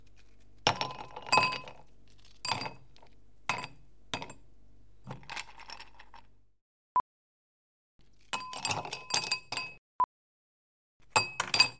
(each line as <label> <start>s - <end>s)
Ice in glass 8.2s - 9.8s